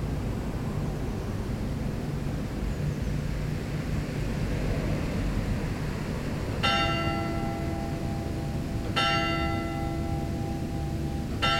6.6s bell 11.5s

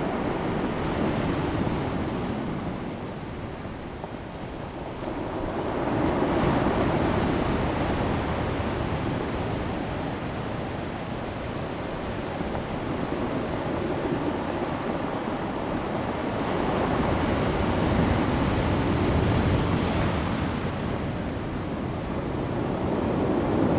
0.0s waves 23.7s

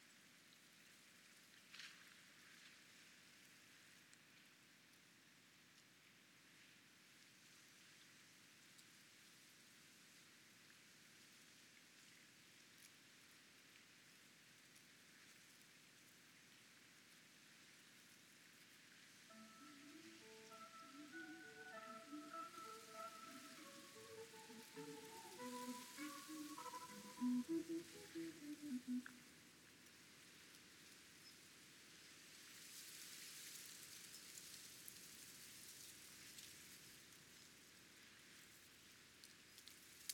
19.3s Emergency Warning System Test 29.0s

